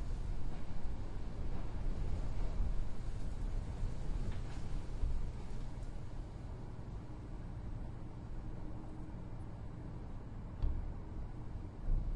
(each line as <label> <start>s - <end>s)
wind 0.0s - 12.1s